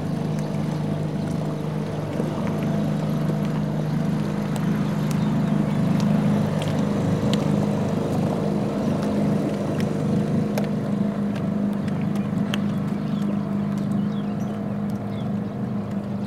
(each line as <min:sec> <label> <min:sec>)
0:00.0 fishing boat 0:16.2